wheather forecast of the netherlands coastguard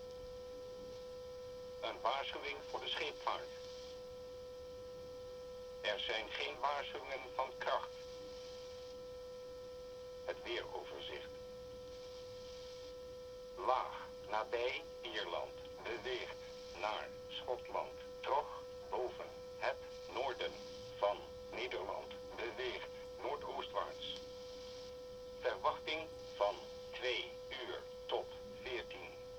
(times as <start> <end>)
1.8 3.6, 5.8 7.9, 10.3 11.3, 13.6 24.2, 25.4 29.2